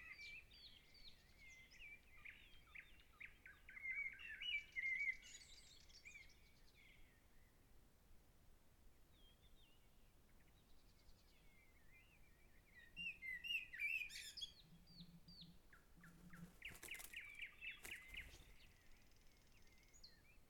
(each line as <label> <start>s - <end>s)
Bird calls from the trees 12.8s - 20.2s